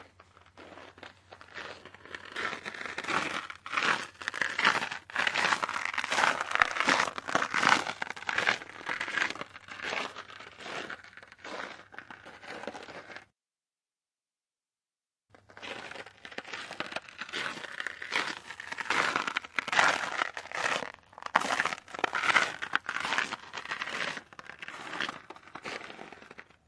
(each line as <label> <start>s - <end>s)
footsteps on frozen snow 0.0s - 13.2s
footsteps on frozen snow 15.4s - 26.6s